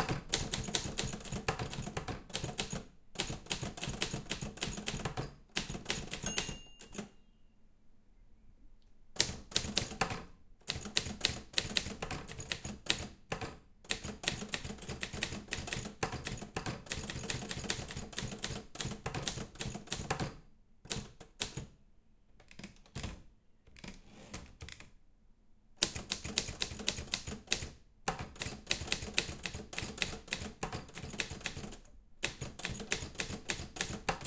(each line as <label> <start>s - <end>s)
typing on my old typewriter 0.0s - 7.1s
margin bell ringing 6.2s - 7.3s
typing on my old typewriter 9.2s - 21.7s
scrolling the paper up and down 23.7s - 24.9s
typing on my old typewriter 25.8s - 34.2s